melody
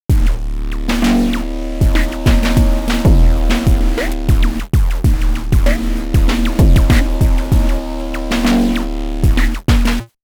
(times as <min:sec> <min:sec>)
0:01.4 0:04.6, 0:05.2 0:09.2